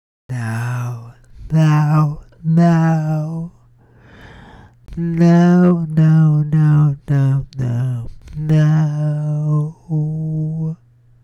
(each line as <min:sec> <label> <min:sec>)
0:00.3 untrained melodic speech 0:03.5